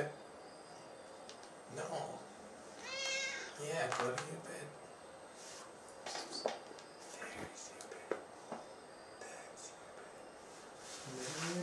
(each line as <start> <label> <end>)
2.8 meowing 3.6